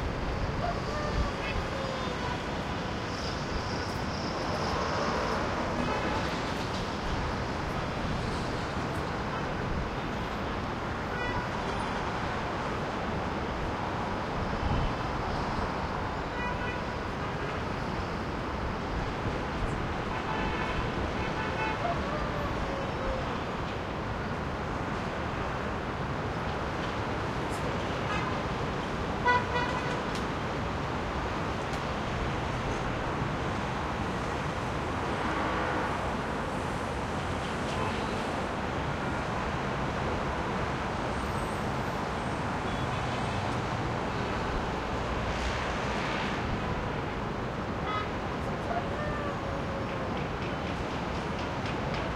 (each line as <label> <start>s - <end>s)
distant traffic 0.0s - 52.1s